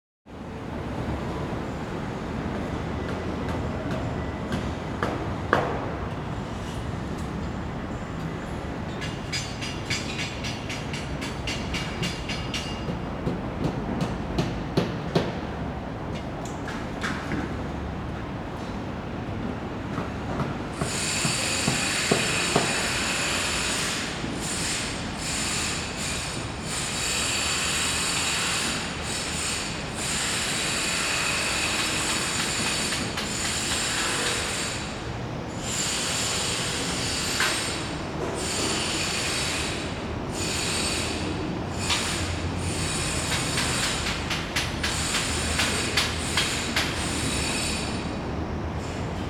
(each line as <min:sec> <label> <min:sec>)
0:00.3 construction 0:49.2